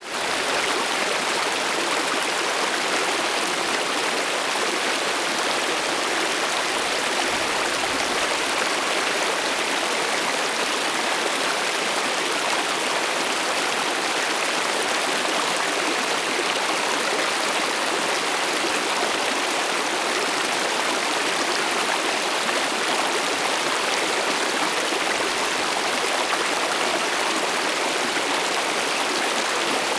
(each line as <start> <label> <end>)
0.0 urban creek running over rocks 29.9